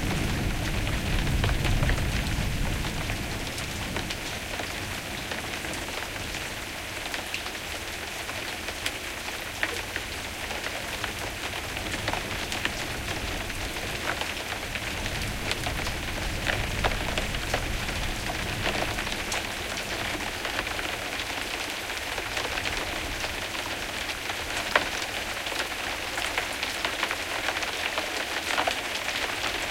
0.0s thunder 4.2s
0.0s Moderate rain 29.7s

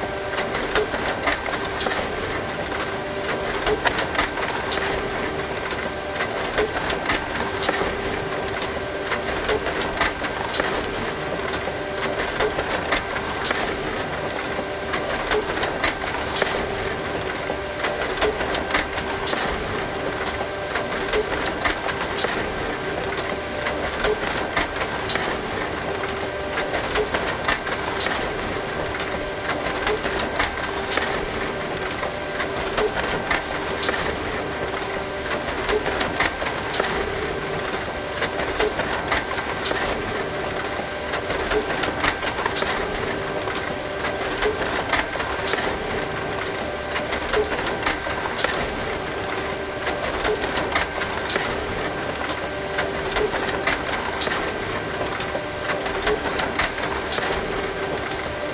0.0s printer 58.5s

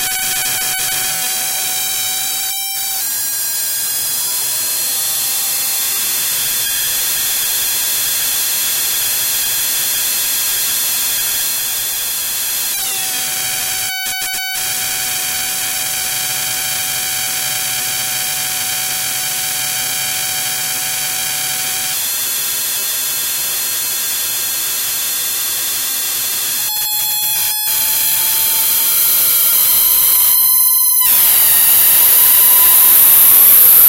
11.2s sound with a screaming, alarm-like character 22.0s
26.7s sound with a screaming, alarm-like character 33.8s

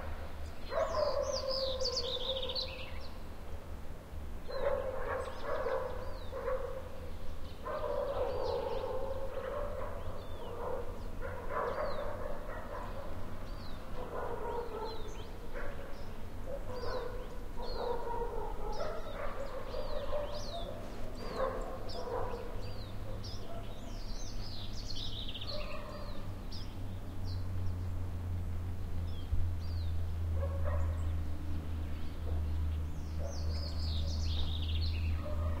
0.0s birds 35.6s
0.0s light traffic 35.6s
0.7s barking dogs 2.7s
4.5s barking dogs 6.9s
7.6s barking dogs 13.3s
14.0s barking dogs 24.0s
25.4s barking dogs 26.3s
30.4s barking dogs 31.1s
33.2s barking dogs 35.6s

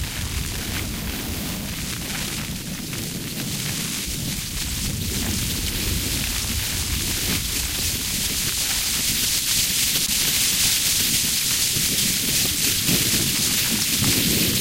0.0s fire sounds 14.6s

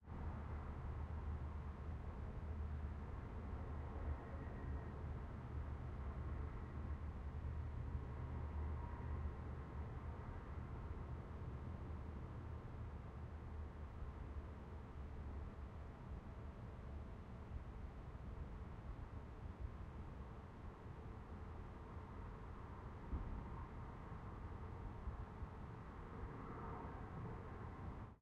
0.0s City Noise 28.2s

